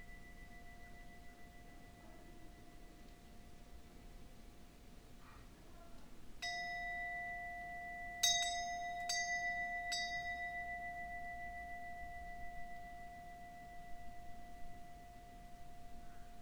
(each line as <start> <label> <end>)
0.0 Wind bells 4.7
6.4 Wind bells 16.4